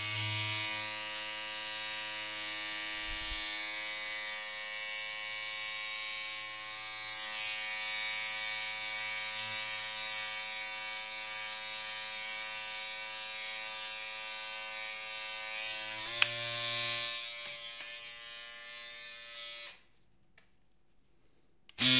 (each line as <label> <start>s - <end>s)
Electric razor 0.0s - 19.8s